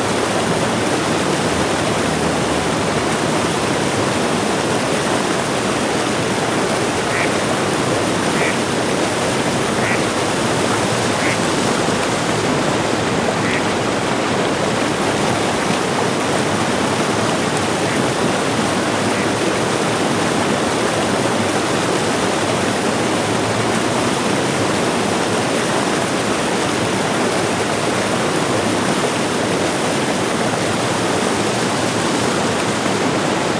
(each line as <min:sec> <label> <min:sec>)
0:00.0 cars passing by on the riverside roads 0:33.5
0:00.0 water rushing down the dam wall as a small water fall 0:33.5
0:06.9 group of ducks 0:07.6
0:08.2 group of ducks 0:14.3